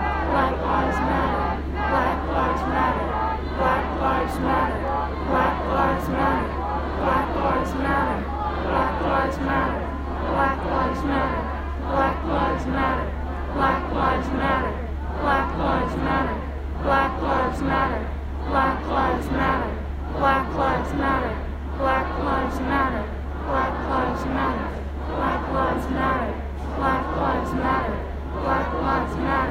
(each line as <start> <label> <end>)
0.0 close up and distant chanting in the crowd 29.5